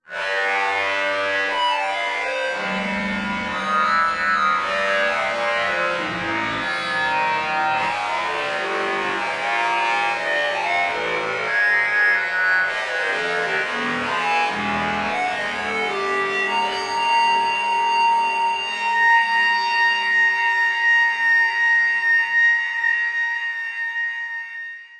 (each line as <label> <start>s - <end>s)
Time-Stretched Electric Guitar 0.0s - 24.9s